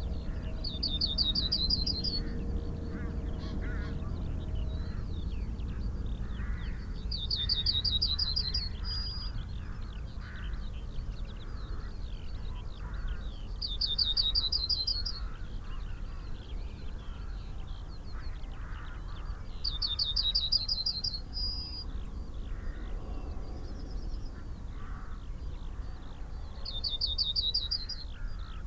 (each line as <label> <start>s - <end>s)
crow 2.9s - 4.1s
crow 6.2s - 6.8s
crow 24.7s - 26.0s
crow 27.6s - 28.6s